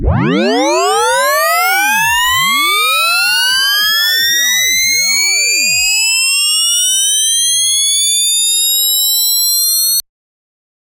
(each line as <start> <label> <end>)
0.0 Uplifter Sweep 2.8